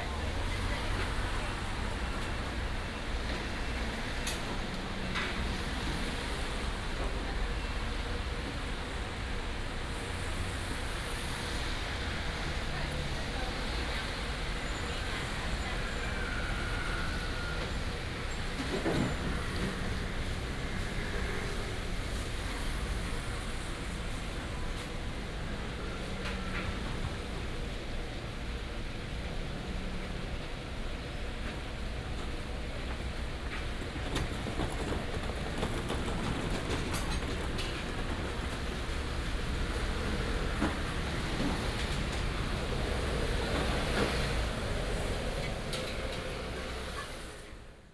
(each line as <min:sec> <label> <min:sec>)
0:00.0 Restaurant and traffic sound 0:47.9
0:00.0 traffic sound 0:47.9